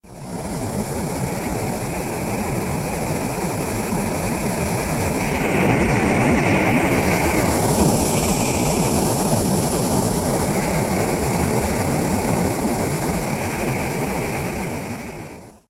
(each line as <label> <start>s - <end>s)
jet engine burner 0.0s - 15.6s